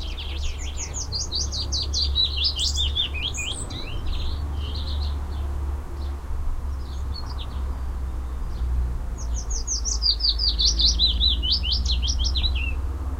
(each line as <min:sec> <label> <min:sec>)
0:00.0 voices 0:06.2
0:00.0 birds 0:13.1
0:00.0 cars 0:13.1
0:00.0 wind 0:13.1